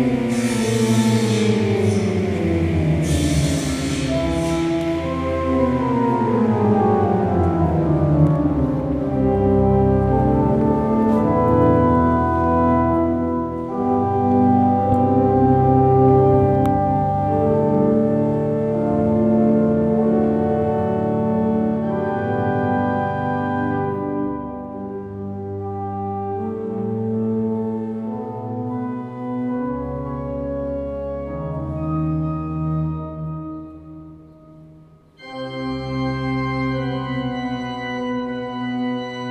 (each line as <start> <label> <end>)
0.0 Organ rehearsing 39.3